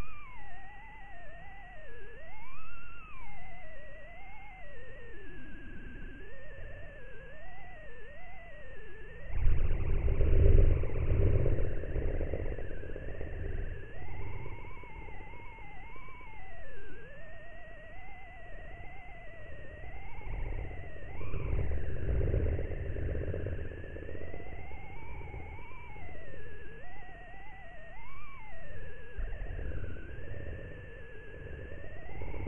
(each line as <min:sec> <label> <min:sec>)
0:09.3 static 0:15.8